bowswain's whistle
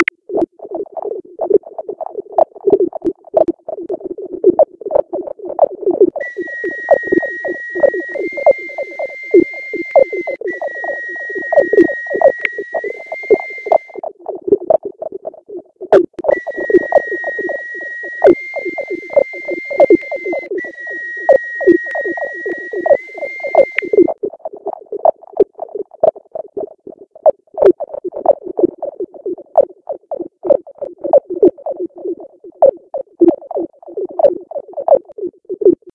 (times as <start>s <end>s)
6.2s 14.0s, 16.3s 24.2s